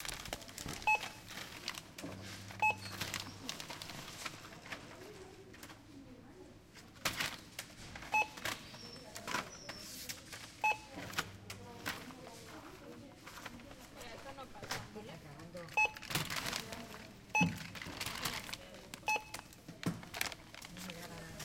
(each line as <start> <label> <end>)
0.8 barcode reader 1.6
2.4 barcode reader 3.8